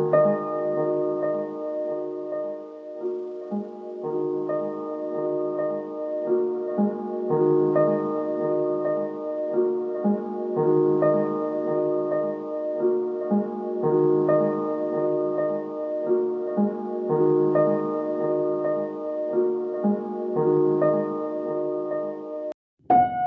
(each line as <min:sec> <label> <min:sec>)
0:00.0 piano 0:23.2